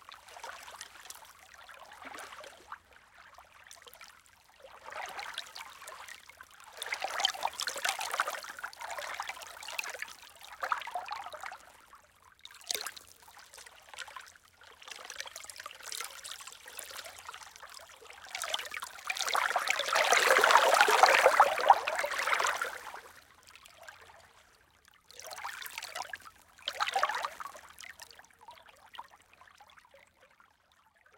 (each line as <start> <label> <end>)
18.3 Lake Waves 23.2